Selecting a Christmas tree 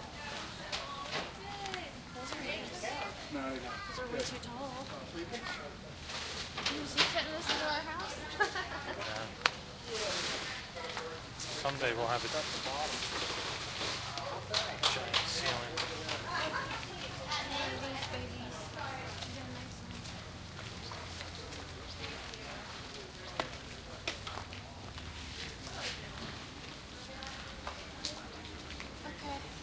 0:08.9 0:16.4

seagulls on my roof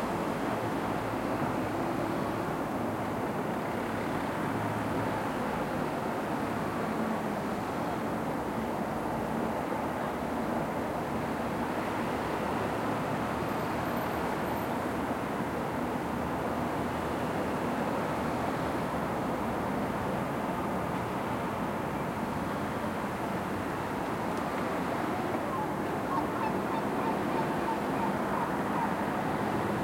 0:24.6 0:29.8

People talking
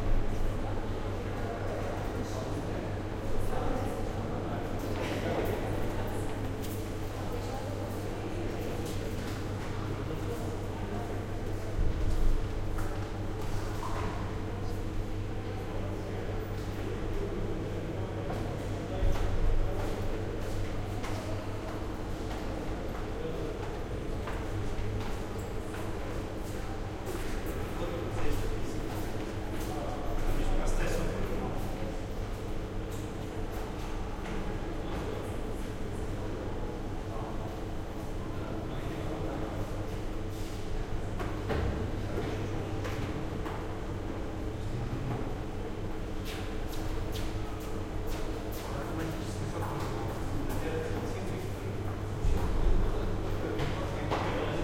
0:00.0 0:12.3, 0:25.2 0:32.1, 0:34.1 0:39.9, 0:46.9 0:54.6

